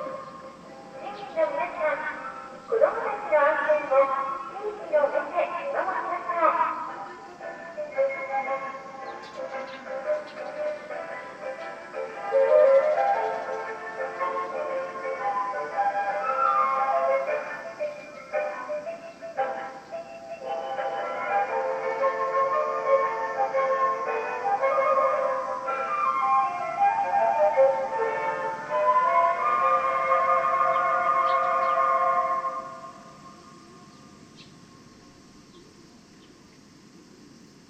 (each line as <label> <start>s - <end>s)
Tannoy announcement 0.9s - 8.8s